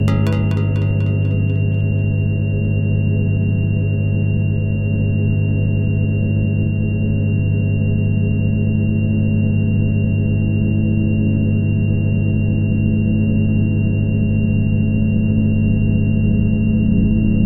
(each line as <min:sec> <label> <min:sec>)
0:00.0 drone 0:02.5